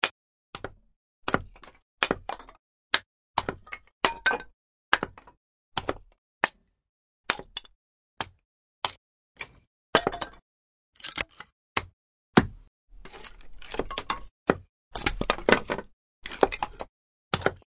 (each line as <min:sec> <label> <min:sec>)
0:00.0 Chopping small wood pieces 0:06.7
0:07.3 Chopping small wood pieces 0:10.4
0:11.0 Chopping small wood pieces 0:17.6